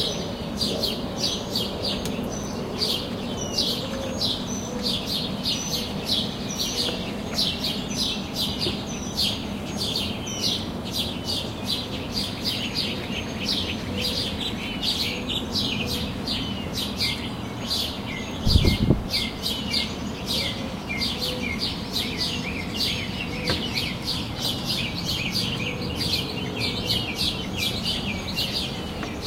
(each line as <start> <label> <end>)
0.0 birds 29.2